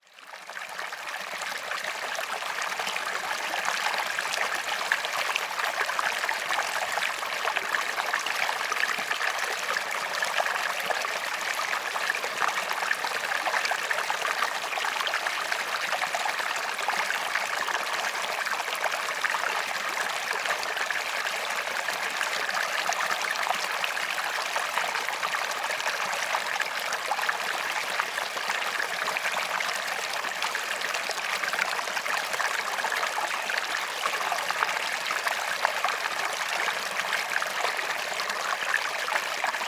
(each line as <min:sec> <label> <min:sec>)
0:00.2 River Stream 0:39.6